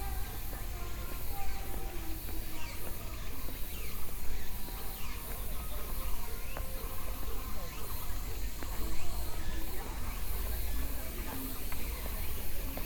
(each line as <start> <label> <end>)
0.0 Birdsong 12.8